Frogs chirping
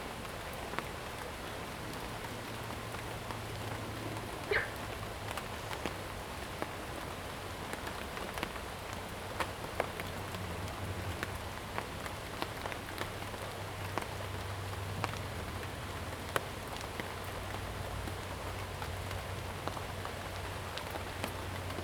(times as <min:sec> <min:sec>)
0:04.5 0:04.9